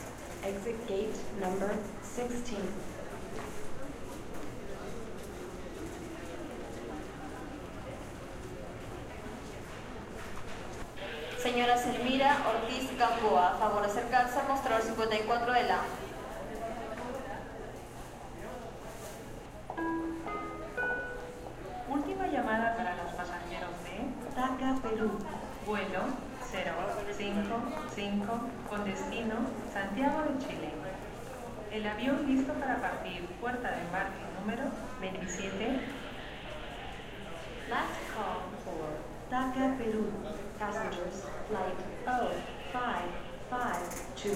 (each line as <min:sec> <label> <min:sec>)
0:00.0 flight announcements 0:03.3
0:10.9 flight announcements 0:16.0
0:19.7 flight announcements 0:44.3